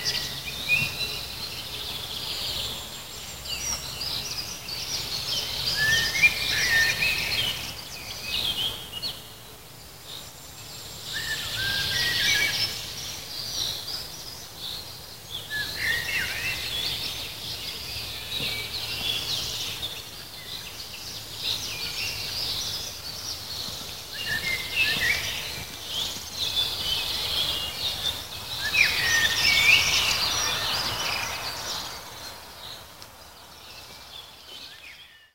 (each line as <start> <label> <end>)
0.0 birds 35.3